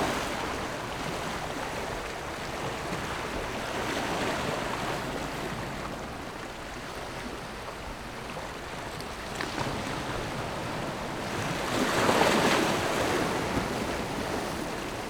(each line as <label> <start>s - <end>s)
waves 0.0s - 15.0s